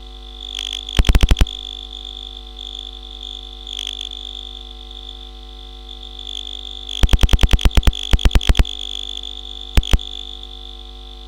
0.0s background hum 11.2s
0.0s simple oscillators 11.2s
1.0s glitch 1.7s
7.0s glitch 8.8s
9.8s glitch 10.2s

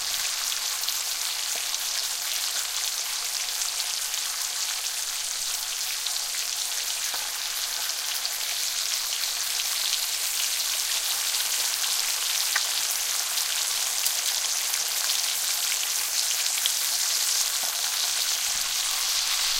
0.0s Bacon frying in a cast-iron skillet 19.5s

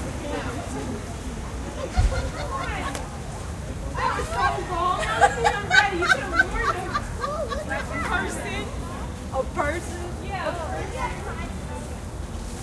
0.0s groups of children 12.6s
0.0s voices 12.6s

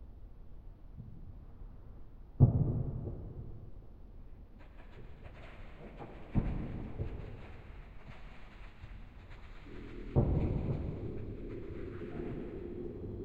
9.4s monster approaching from the distance 13.2s

